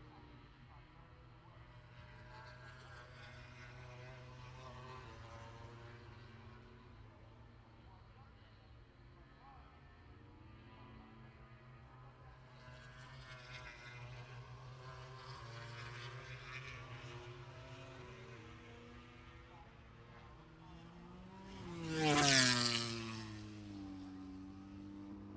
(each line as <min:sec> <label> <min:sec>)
0:00.0 motorcycle grand prix 0:25.3